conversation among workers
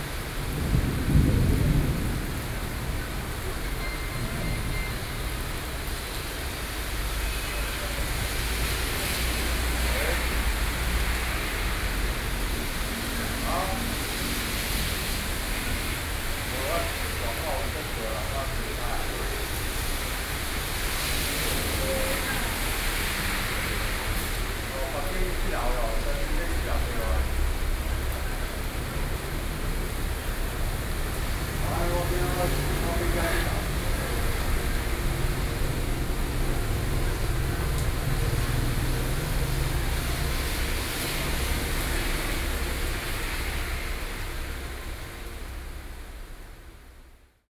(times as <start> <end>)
8.0 38.4